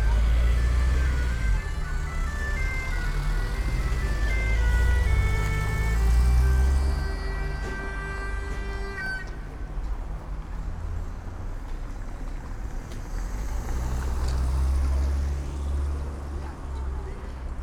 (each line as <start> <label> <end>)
0.0 pipe player 10.0
0.0 crowded market 17.6